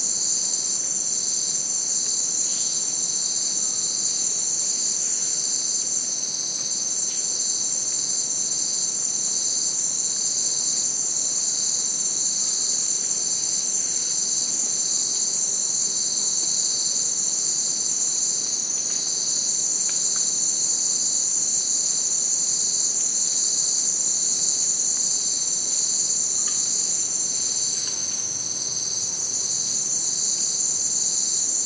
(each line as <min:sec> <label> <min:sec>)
0:00.0 cicada 0:31.6
0:00.0 crickets 0:31.6